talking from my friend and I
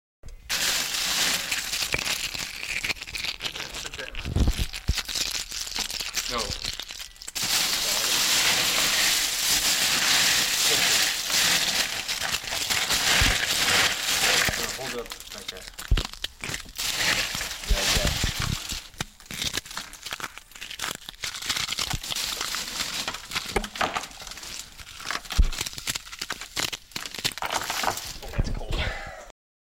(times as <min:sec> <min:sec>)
0:28.2 0:29.3